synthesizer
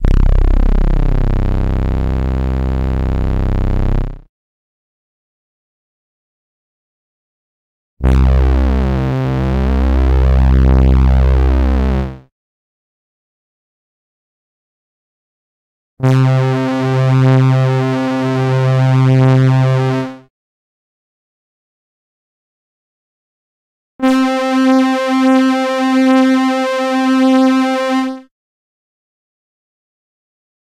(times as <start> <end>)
24.0 28.3